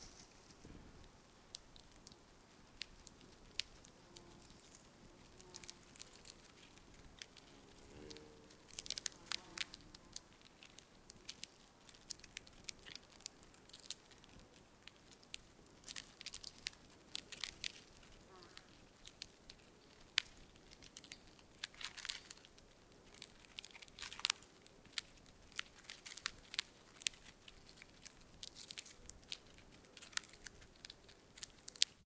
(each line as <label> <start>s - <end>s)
wasp eating a dead insect 0.9s - 32.0s